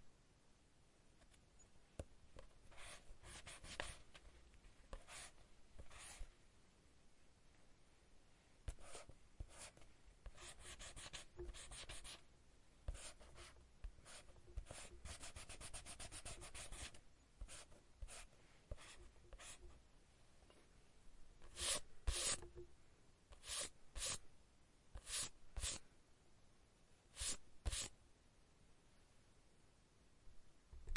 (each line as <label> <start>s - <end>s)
pencil 2.4s - 4.1s
pencil 4.9s - 6.3s
pencil 8.7s - 12.2s
pencil 12.9s - 19.8s
pencil 21.4s - 22.6s
eraser 21.5s - 22.4s
pencil 23.3s - 24.2s
pencil 25.0s - 25.8s
pencil 27.2s - 27.9s